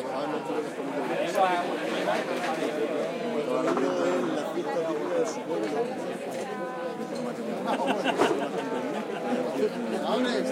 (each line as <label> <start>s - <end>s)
People drink outdoor and talk 0.0s - 10.5s